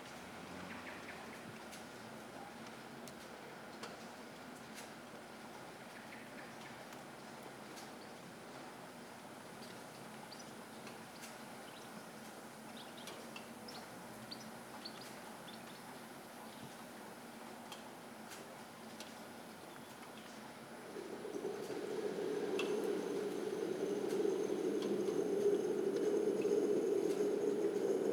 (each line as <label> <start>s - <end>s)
soft rain 0.0s - 28.1s